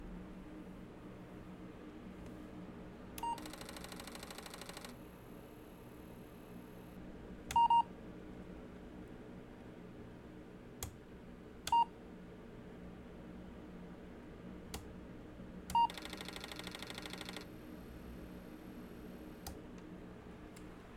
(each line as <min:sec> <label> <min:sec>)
0:03.2 Apple IIc being fliped on and off 0:04.9